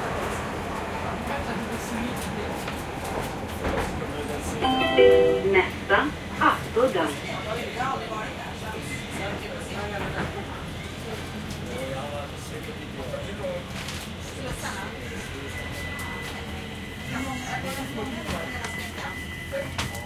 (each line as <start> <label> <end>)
0.0 underground railway train arriving at the stop 20.0
3.8 voices 7.4
4.6 computer-voice announcer 6.0